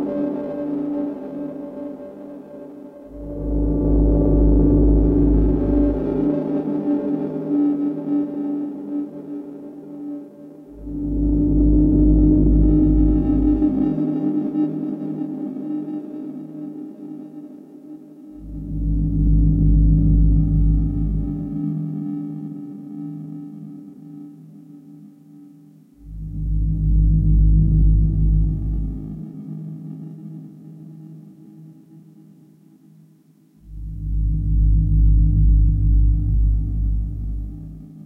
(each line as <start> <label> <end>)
2.4 Pulsing drone 9.2
10.2 Pulsing drone 17.0
18.2 Pulsing drone 23.1
26.0 Pulsing drone 30.8
33.6 Pulsing drone 38.0